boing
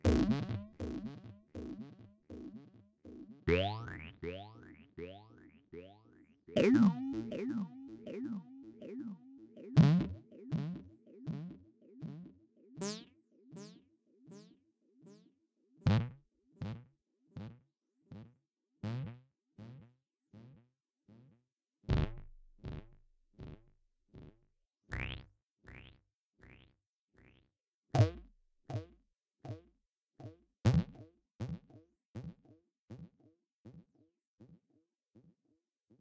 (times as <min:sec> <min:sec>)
0:00.1 0:01.2, 0:03.5 0:06.0, 0:06.6 0:09.2